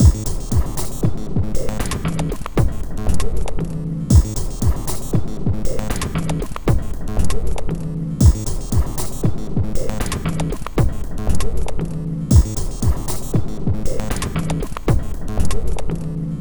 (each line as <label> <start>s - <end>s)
Drum Loop 0.0s - 11.7s
Drum Loop 12.3s - 15.8s